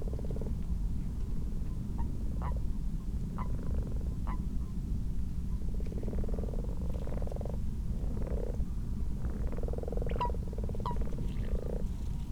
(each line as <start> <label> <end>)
0.0 common frogs 0.6
3.3 common frogs 4.5
5.6 common frogs 12.2
5.7 common toads 8.6
9.2 common toads 12.2